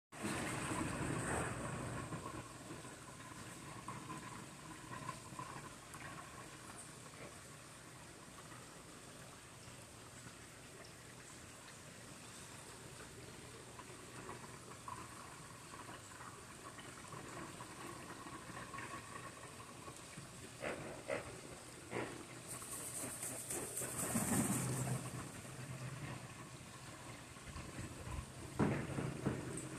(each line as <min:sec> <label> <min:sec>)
0:00.2 Stream 0:29.7
0:22.7 Waldrapp ibis wing flapping 0:25.0